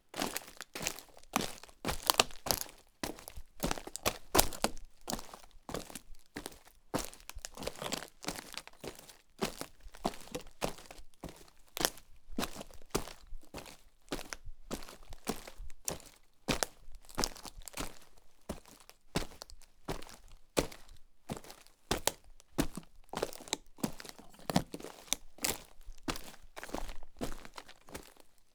Warlking on dry bark crunch 0:13.6 - 0:28.3

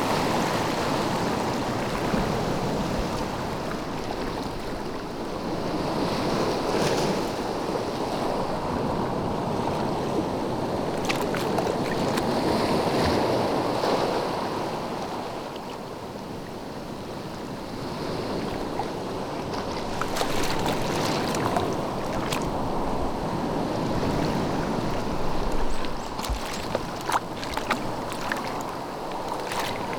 ocean 0:00.0 - 0:29.9

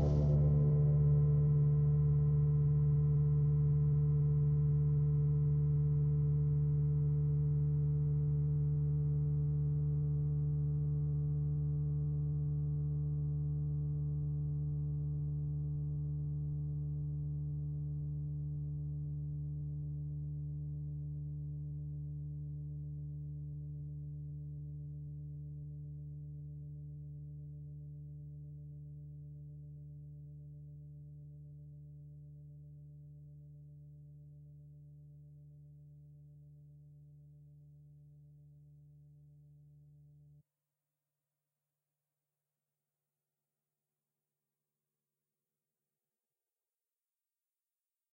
Drone 0:00.0 - 0:03.3

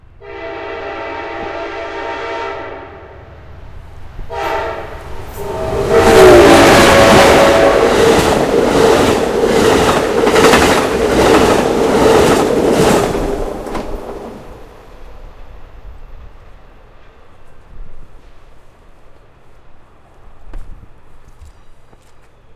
train 0:00.0 - 0:22.5
Horn 0:00.2 - 0:03.2
Horn 0:04.3 - 0:08.0

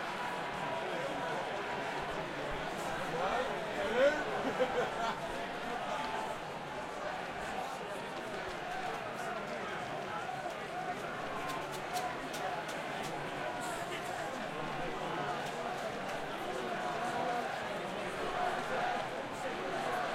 crowd 0:00.0 - 0:20.1

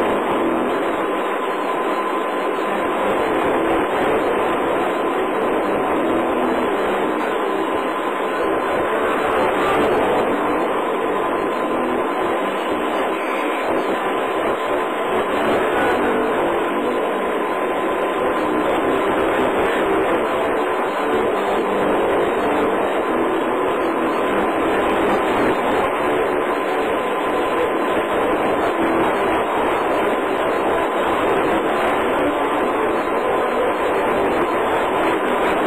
music 0:00.0 - 0:35.6
static 0:00.0 - 0:35.6

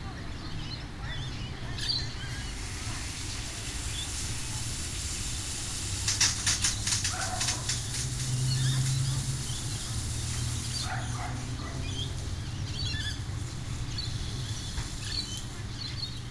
kids playing up the street 0:00.0 - 0:16.3
parrots in the trees chatting 0:00.0 - 0:16.3
my sprinklers start 0:01.7 - 0:16.3
a car passes 0:06.6 - 0:16.3

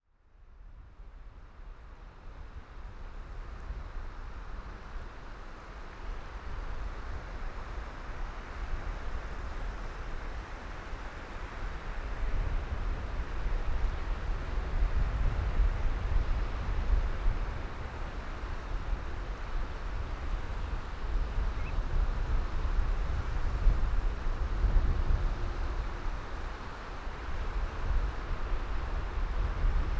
water 0:00.8 - 0:29.9

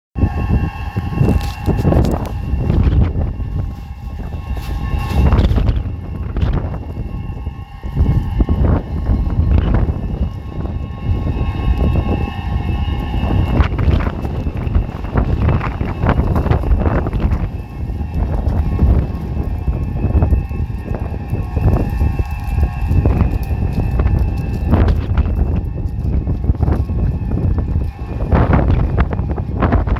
gale force wind is blowing through an empty warehouse 0:00.2 - 0:29.9
wind noise in the recording from the mic 0:00.2 - 0:29.9

